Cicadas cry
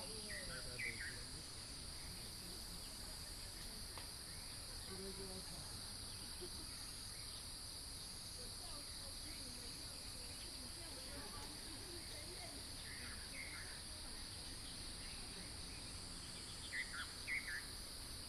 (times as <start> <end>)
0.0 2.1, 12.6 18.2